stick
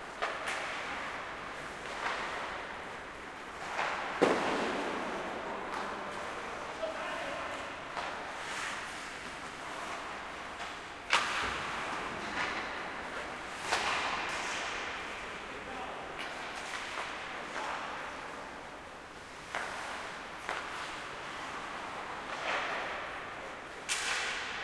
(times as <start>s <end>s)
23.8s 24.6s